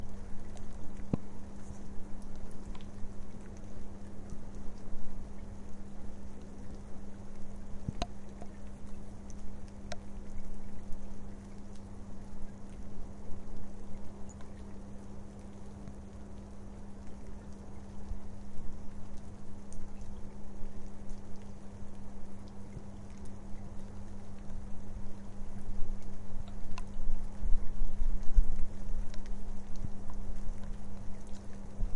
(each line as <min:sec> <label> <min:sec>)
0:00.0 Light rain 0:31.9